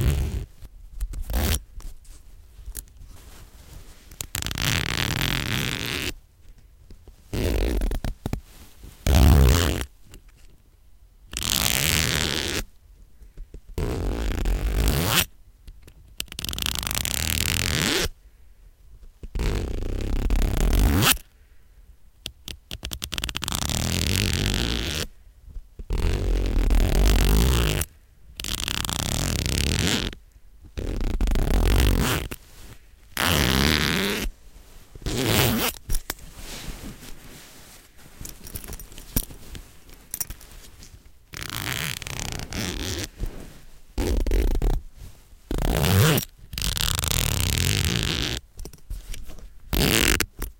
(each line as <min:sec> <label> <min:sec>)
0:00.0 zipper zipping & unzipping 0:00.5
0:00.0 rustle of fabric 0:15.4
0:01.2 zipper zipping & unzipping 0:01.6
0:04.2 zipper zipping & unzipping 0:06.2
0:07.3 zipper zipping & unzipping 0:08.2
0:09.0 zipper zipping & unzipping 0:09.9
0:11.4 zipper zipping & unzipping 0:12.7
0:13.8 zipper zipping & unzipping 0:15.3
0:16.3 rustle of fabric 0:50.5
0:16.4 zipper zipping & unzipping 0:18.1
0:19.4 zipper zipping & unzipping 0:21.2
0:23.1 zipper zipping & unzipping 0:25.1
0:25.9 zipper zipping & unzipping 0:30.2
0:30.8 zipper zipping & unzipping 0:32.4
0:33.2 zipper zipping & unzipping 0:34.3
0:35.0 zipper zipping & unzipping 0:44.8
0:45.5 zipper zipping & unzipping 0:48.4
0:49.7 zipper zipping & unzipping 0:50.4